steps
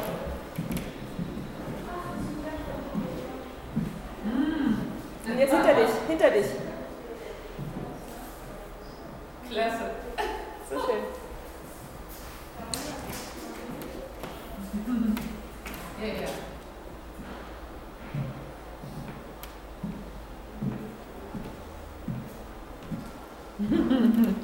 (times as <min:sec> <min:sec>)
0:00.0 0:04.2, 0:07.2 0:09.3, 0:11.1 0:23.3